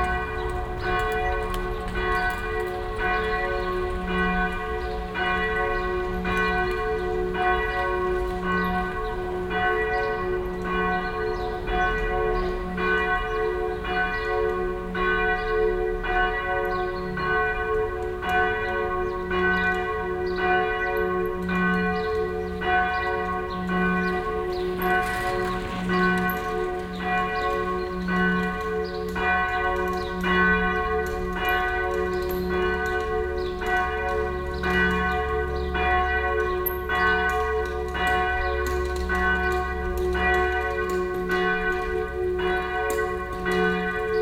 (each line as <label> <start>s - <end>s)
verkehr 0.0s - 44.2s